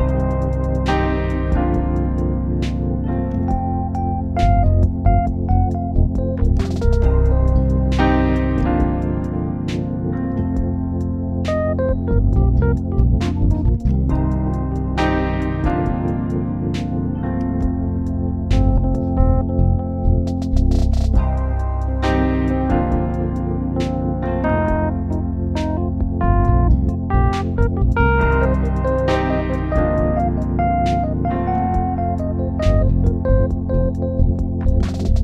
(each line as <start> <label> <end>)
27.2 trap drums 31.0